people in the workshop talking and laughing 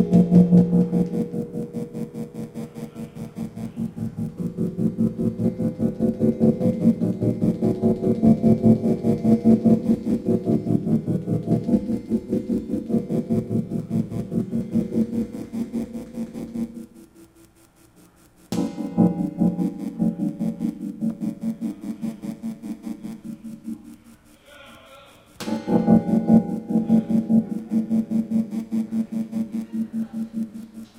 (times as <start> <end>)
24.1 25.4